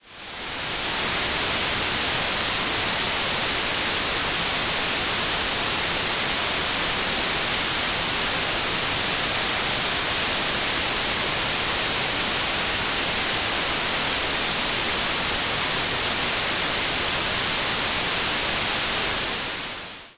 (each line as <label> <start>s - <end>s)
white-noise 0.0s - 20.1s